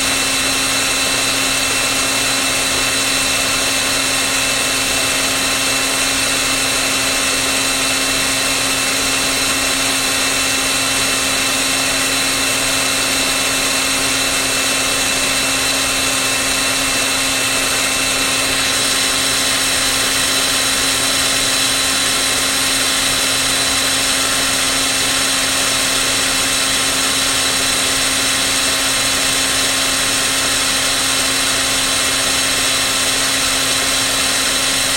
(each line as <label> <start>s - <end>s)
electric screw driver 0.0s - 34.9s